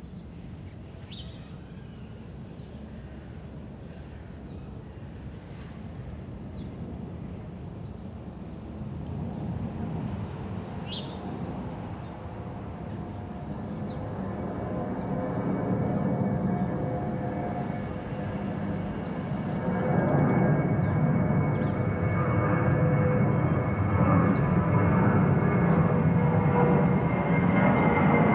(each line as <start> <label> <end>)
0.1 airplanes overflying every three minutes 28.3